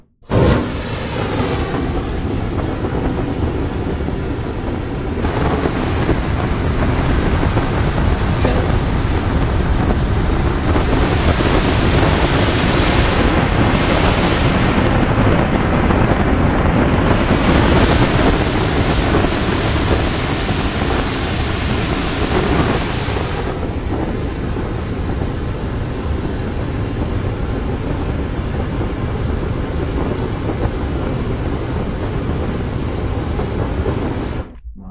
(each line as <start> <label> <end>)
0.2 constant spray fire 34.5